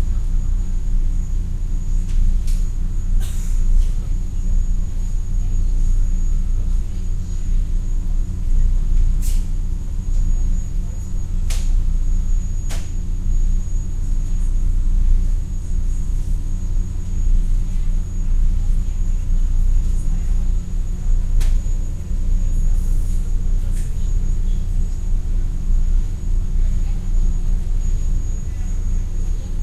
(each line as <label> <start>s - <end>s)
Running engine 0.0s - 29.6s